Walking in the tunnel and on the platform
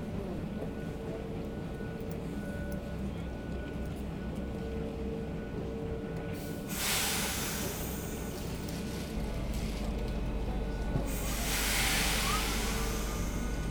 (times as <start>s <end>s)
0.0s 6.7s